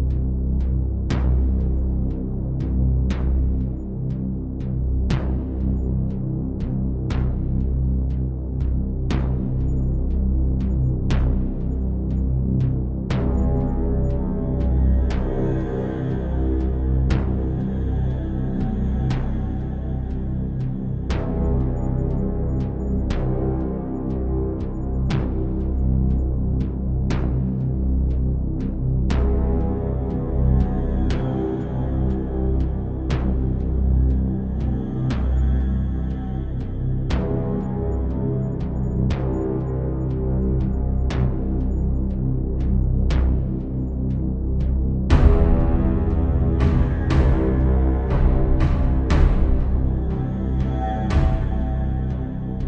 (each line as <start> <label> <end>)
0.0 Bass 52.6
45.1 Drum 52.6